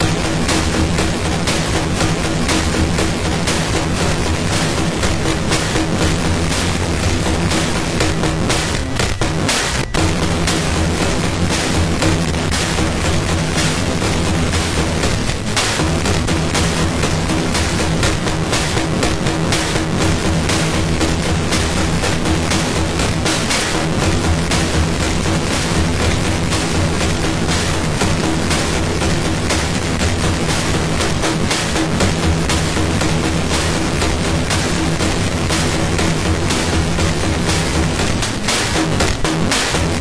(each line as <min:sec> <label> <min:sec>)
0:00.0 circuit bent Roland DR-550 drum machine 0:40.0